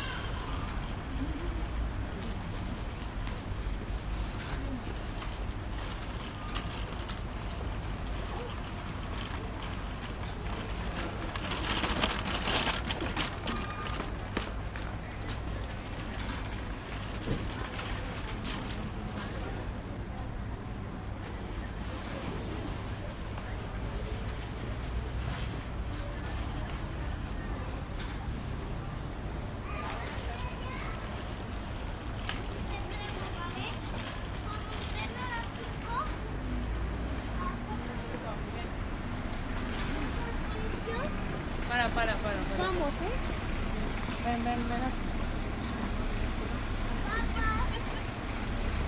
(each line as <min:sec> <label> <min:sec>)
0:00.0 cars driving on the road 0:48.8
0:00.0 cart 0:48.8
0:17.2 people talking 0:29.0
0:29.6 people talking 0:31.6
0:32.5 people talking 0:48.8